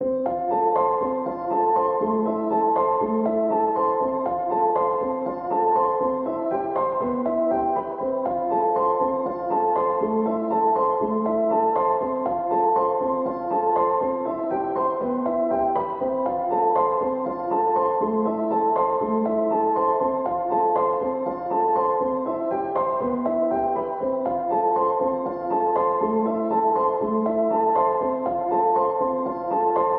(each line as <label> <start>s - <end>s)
piano 0.0s - 29.9s